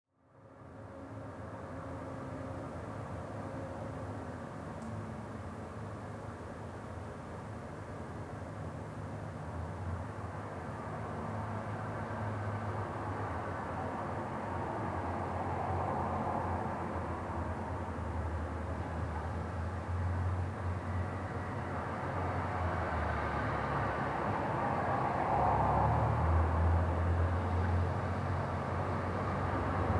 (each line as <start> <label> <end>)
0.2 Traffic heard trough a window 29.9